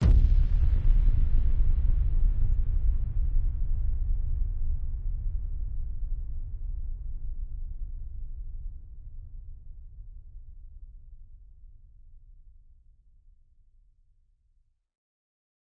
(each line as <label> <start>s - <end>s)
deep, rumbling impact 0.0s - 9.3s